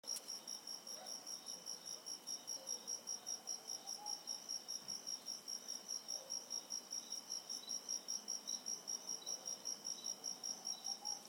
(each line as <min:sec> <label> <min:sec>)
0:00.0 Crickets 0:11.2